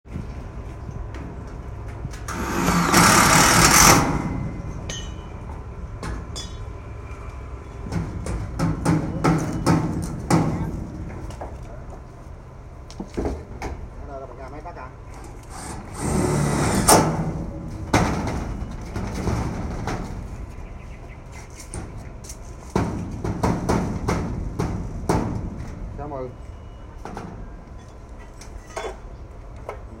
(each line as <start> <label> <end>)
0.1 Work sound rebuild house 30.0
2.3 drill 4.4
14.0 people talk 15.0
15.5 drill 17.1
26.0 people talk 26.4